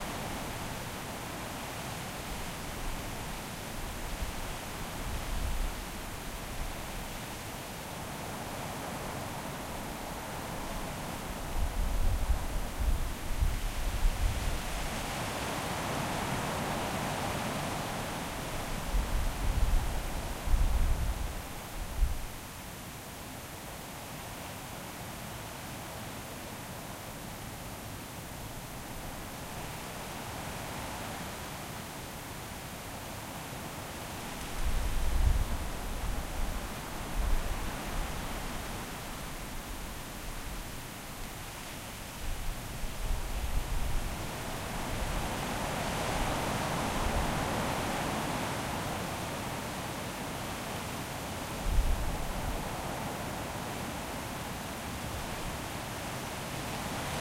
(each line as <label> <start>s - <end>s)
leaves 0.0s - 57.2s